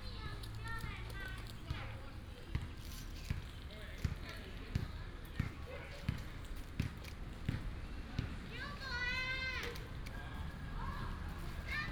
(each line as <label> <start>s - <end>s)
Child 8.5s - 9.9s
Child 10.8s - 11.9s